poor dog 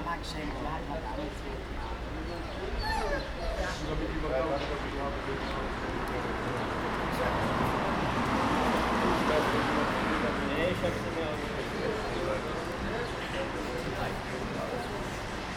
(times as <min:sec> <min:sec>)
0:02.4 0:03.9